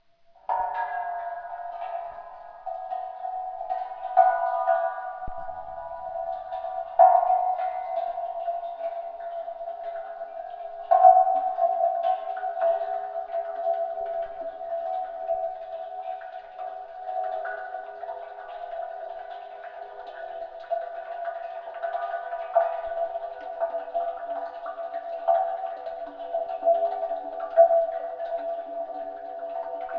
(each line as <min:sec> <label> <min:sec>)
0:01.2 water slowly filling the thermos 0:29.9